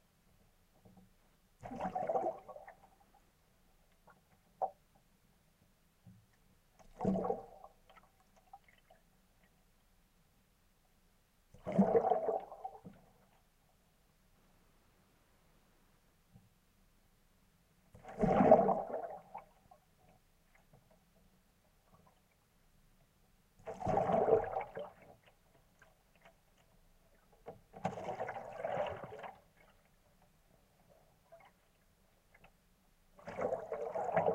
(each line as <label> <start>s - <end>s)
bubbling 33.2s - 34.3s